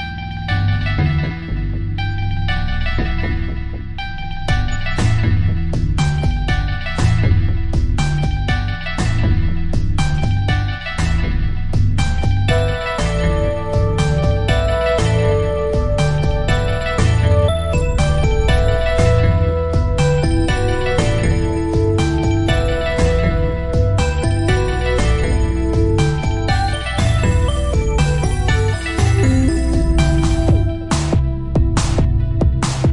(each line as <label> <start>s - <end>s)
peculiar electronic / techno song 0.0s - 32.9s